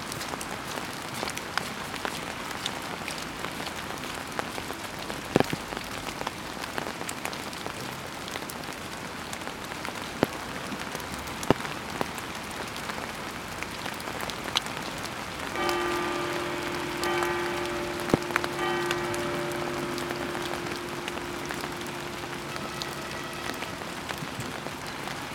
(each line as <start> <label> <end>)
0.0 Light rain 25.3
0.2 Bells under the rain 12.2
13.0 Bells under the rain 25.3